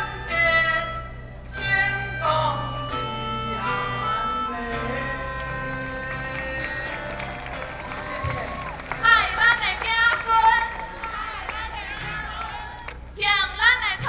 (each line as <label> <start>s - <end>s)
Protest 4.6s - 13.7s